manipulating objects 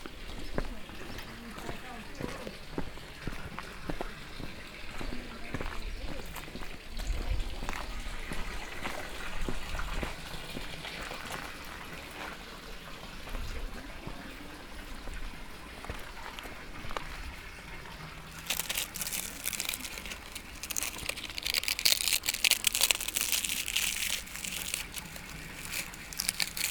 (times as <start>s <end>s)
18.3s 26.7s